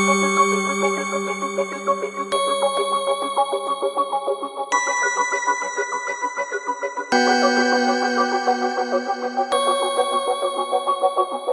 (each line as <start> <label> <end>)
7.1 Pad 11.5